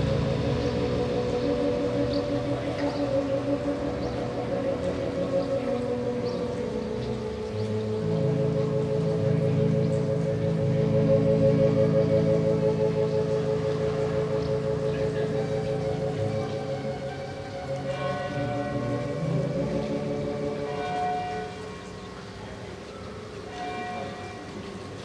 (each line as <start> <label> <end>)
0.0 Neighbour playing organ 25.0
0.0 birds 25.0